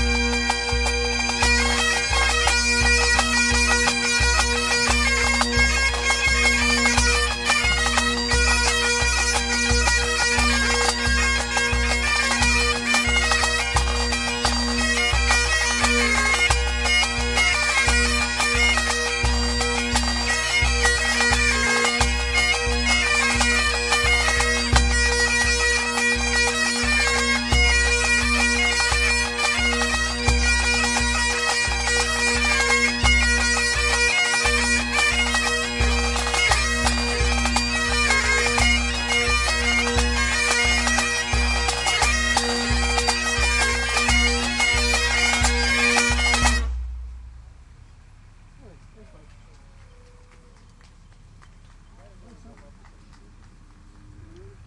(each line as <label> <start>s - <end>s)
bagpipes street band4 0.0s - 47.4s